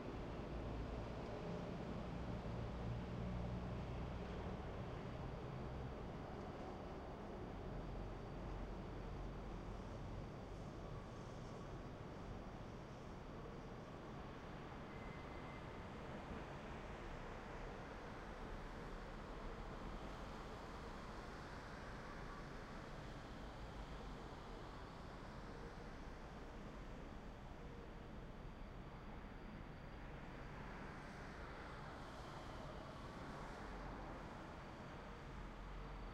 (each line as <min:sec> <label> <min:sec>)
0:00.0 wind 0:36.1
0:10.9 Crickets can be heard chirping in the distance 0:16.5
0:17.1 Crickets can be heard chirping in the distance 0:36.1